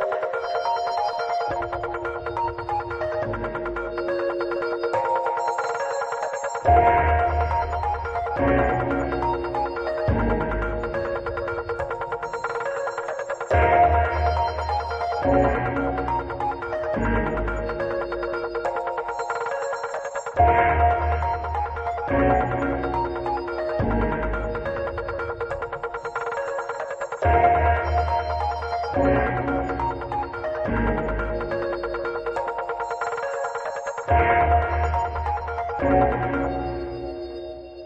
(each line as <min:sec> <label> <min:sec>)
0:00.0 high pitched synth 0:37.8
0:06.5 Drums 0:36.6